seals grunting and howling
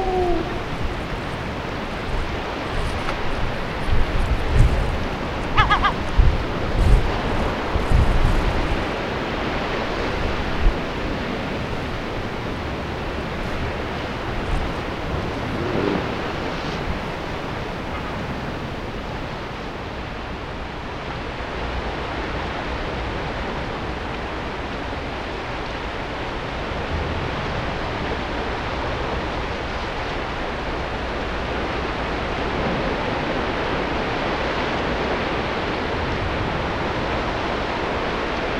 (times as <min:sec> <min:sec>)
0:00.0 0:02.5, 0:04.1 0:06.9